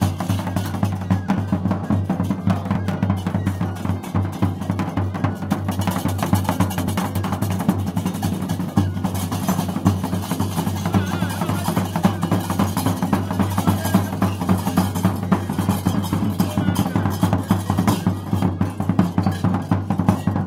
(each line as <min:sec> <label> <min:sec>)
0:00.0 African Music 0:20.4